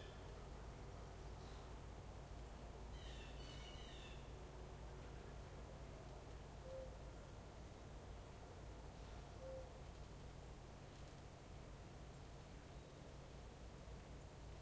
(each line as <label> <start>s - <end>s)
light wind 0.0s - 14.6s
reoccurring American Mourning Dove calling 6.5s - 7.4s
reoccurring American Mourning Dove calling 8.9s - 10.0s